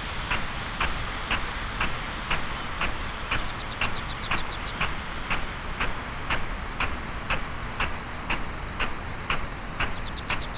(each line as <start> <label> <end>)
0.0 field irrigation system 10.5